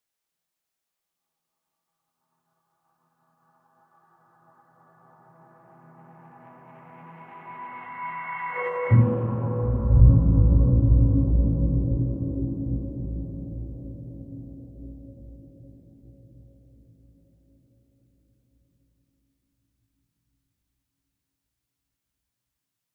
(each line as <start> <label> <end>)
5.4 Drone 15.3
8.9 Timpani 15.4